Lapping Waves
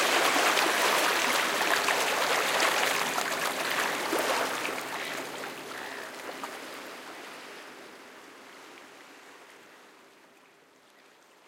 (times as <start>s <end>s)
0.0s 6.8s